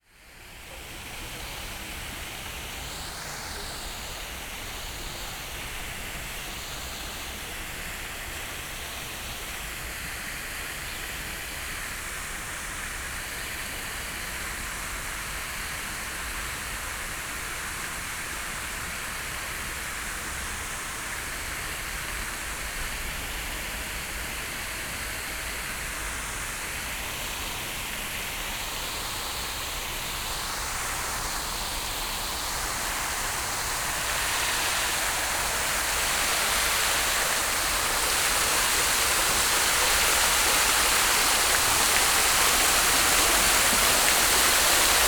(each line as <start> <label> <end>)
0.0 water sounds reflecting on things and walls around the fountain 45.0
27.4 short walk around fountain 45.0